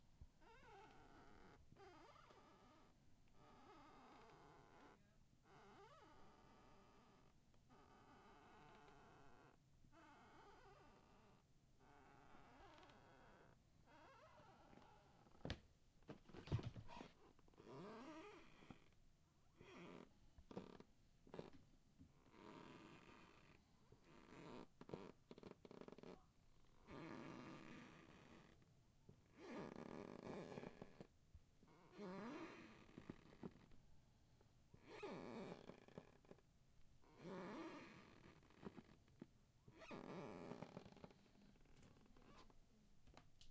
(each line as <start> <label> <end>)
13.9 squeaky floor steps 18.9
39.8 squeaky floor steps 42.5